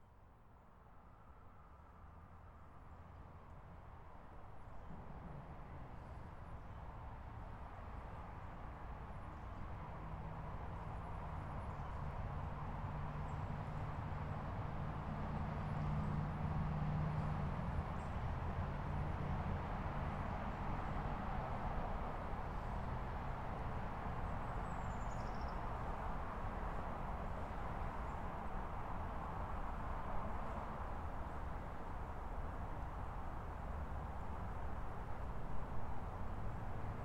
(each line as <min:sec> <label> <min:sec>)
0:00.8 traffic sounds 0:37.0